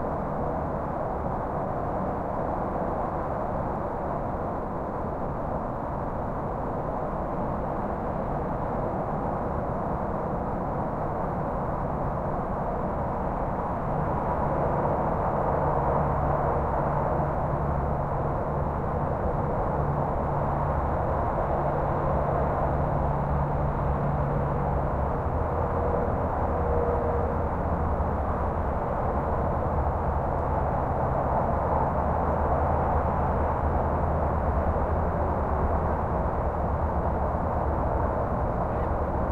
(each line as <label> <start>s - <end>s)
highway traffic distant far or nearby haze 14.7s - 39.3s